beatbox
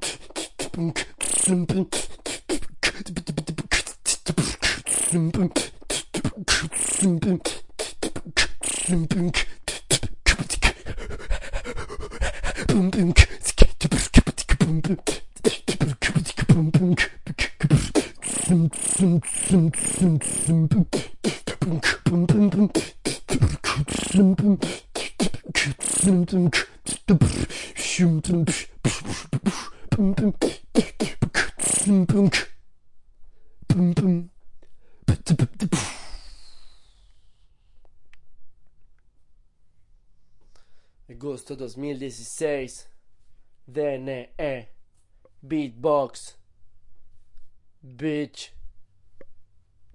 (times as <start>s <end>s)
0.0s 32.6s, 33.6s 34.4s, 35.0s 37.4s